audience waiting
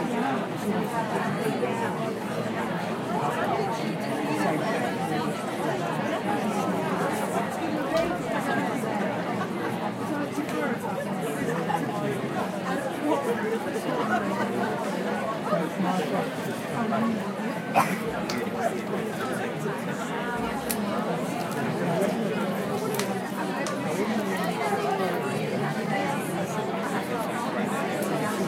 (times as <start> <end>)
17.6 19.1